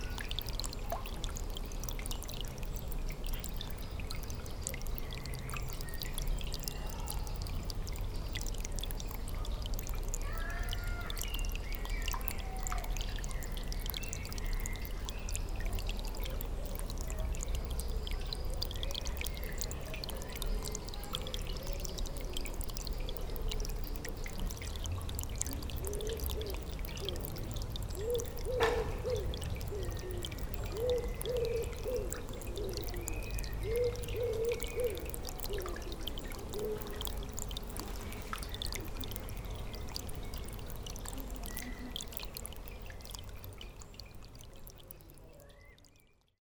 rill, giving water to the pond 0:00.0 - 0:46.4
children playing 0:10.2 - 0:11.2

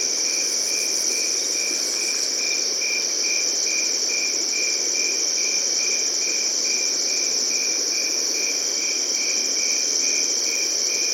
Crickets 0:00.0 - 0:11.1

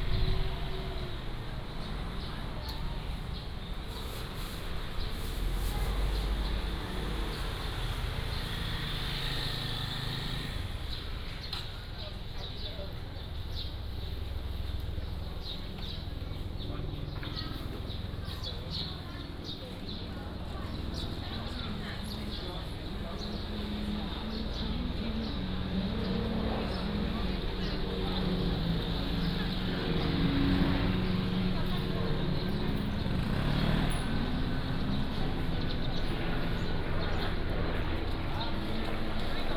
Traffic sound 0:00.0 - 0:39.5
Walking in the market 0:00.0 - 0:39.5

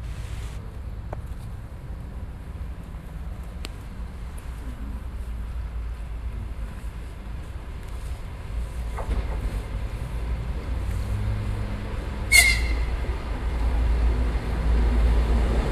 Train arrives at station 0:03.9 - 0:15.7

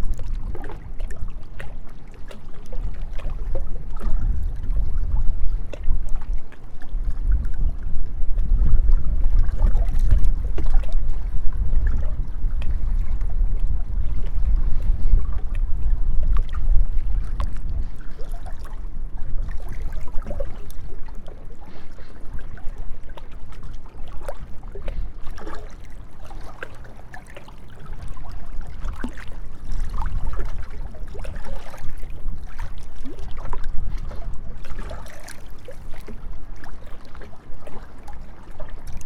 Water 0:00.0 - 0:39.0
windy day 0:00.0 - 0:39.0

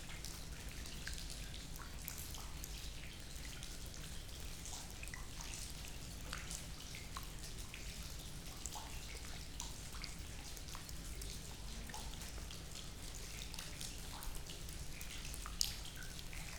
the leaking roof 0:00.0 - 0:16.5
mild rain 0:05.6 - 0:16.5

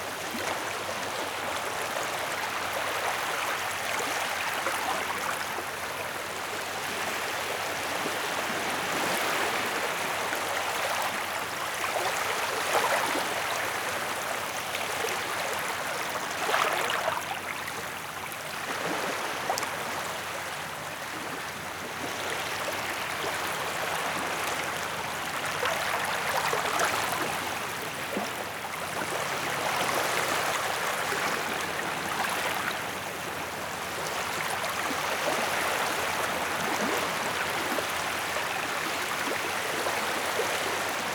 small waves on the beach 0:00.0 - 0:41.1

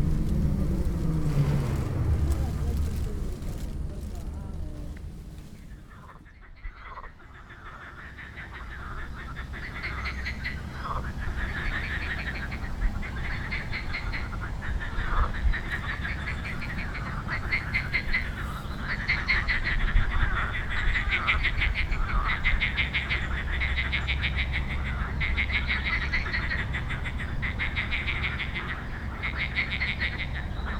voices of frogs 0:06.0 - 0:30.7

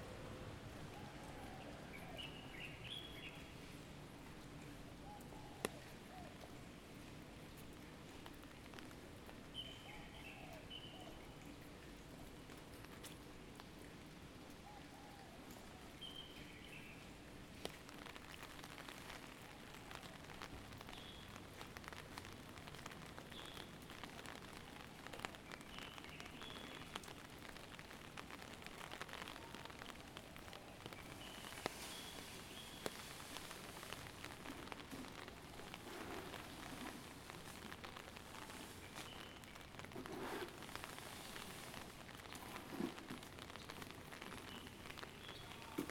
Rain 0:00.0 - 0:45.9
Road sweeper worker cleaning city side walk with broom 0:40.0 - 0:41.7

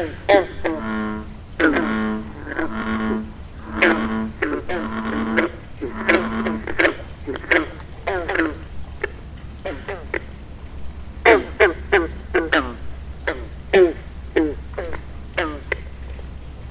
bullfrogs 0:00.0 - 0:16.7

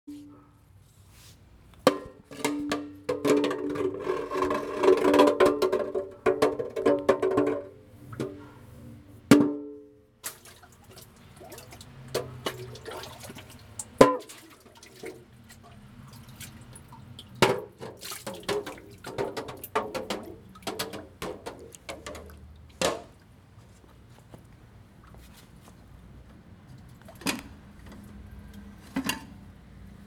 Getting the water from the well 0:02.4 - 0:08.6
Getting the water from the well 0:10.2 - 0:23.4

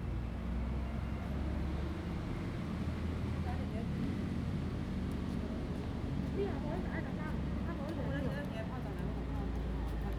Wind 0:00.0 - 0:10.1

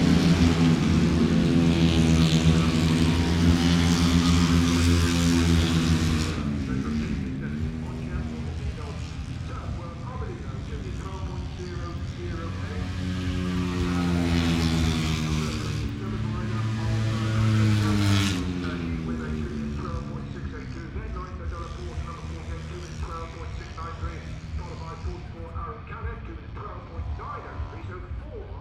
commentary 0:00.0 - 0:28.6
motorcycle grand prix 0:00.0 - 0:28.6

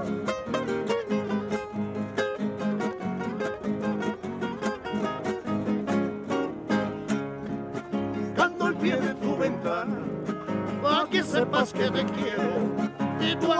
Musiciens 0:00.0 - 0:13.5

